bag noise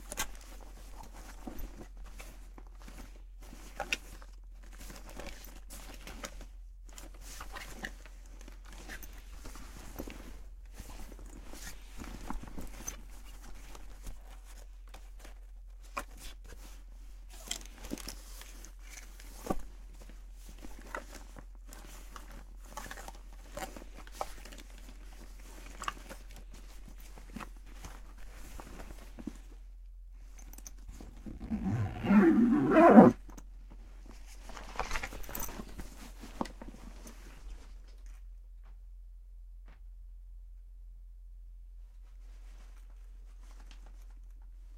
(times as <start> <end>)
31.2 33.2